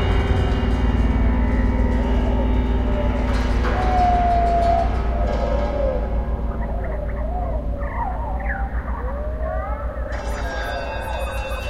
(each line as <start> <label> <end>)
3.0 birds 11.2